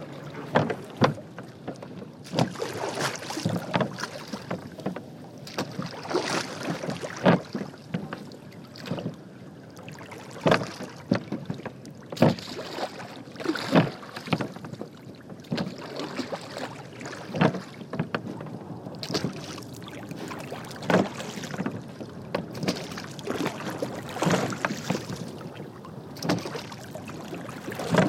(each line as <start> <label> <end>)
0.0 wooden boat row water 28.0